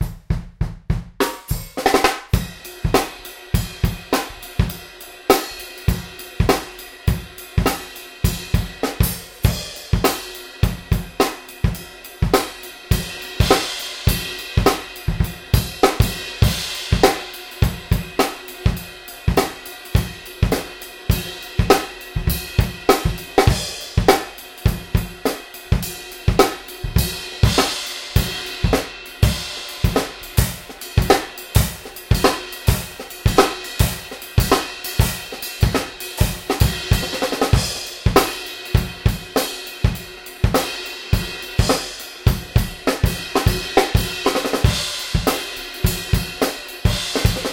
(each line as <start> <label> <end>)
0.0 hi hats w tambourine on top 47.5